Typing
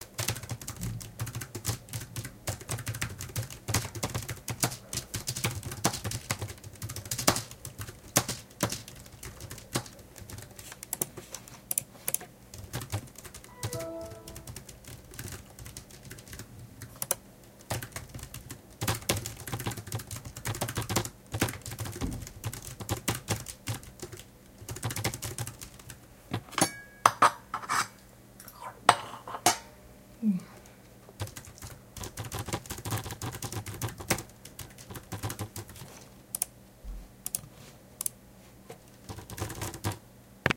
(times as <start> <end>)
0.0 11.1, 11.7 26.0, 31.2 36.5, 39.0 40.0